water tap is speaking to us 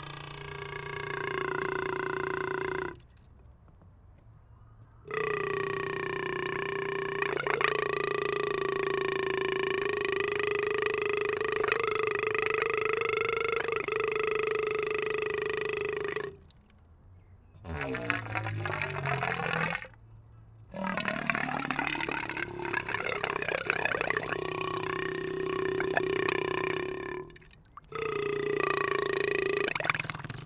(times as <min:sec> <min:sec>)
0:17.7 0:20.0, 0:20.8 0:28.0, 0:29.5 0:30.4